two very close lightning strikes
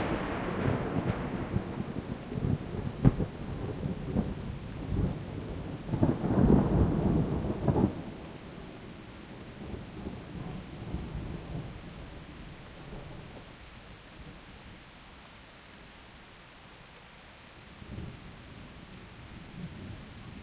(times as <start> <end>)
0.0 4.3